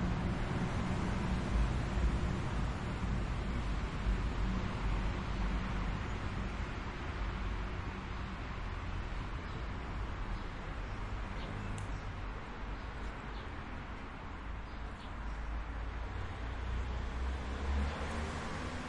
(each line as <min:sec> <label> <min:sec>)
0:15.3 a car passes by 0:18.8